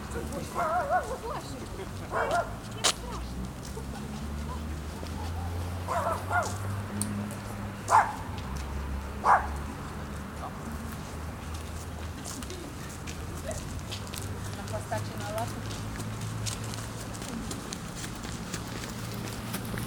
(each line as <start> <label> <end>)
0.0 Workers returning to the housing estate 19.8